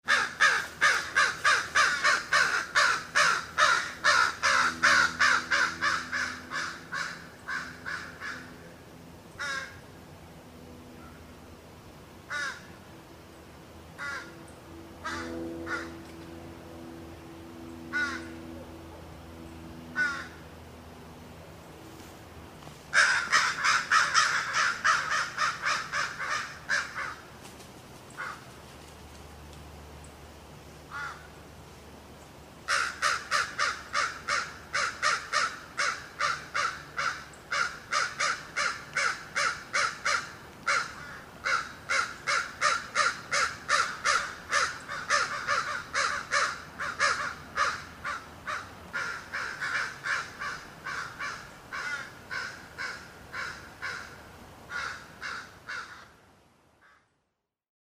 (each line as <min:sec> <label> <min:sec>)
0:00.1 Crows 0:08.6
0:09.4 Crows 0:09.8
0:12.3 Crows 0:12.7
0:14.0 Crows 0:14.3
0:15.0 Crows 0:16.0
0:17.9 Crows 0:18.3
0:19.9 Crows 0:20.4
0:22.9 Crows 0:27.2
0:28.2 Crows 0:28.5
0:30.9 Crows 0:31.3
0:32.7 Crows 0:56.1
0:56.8 Crows 0:57.1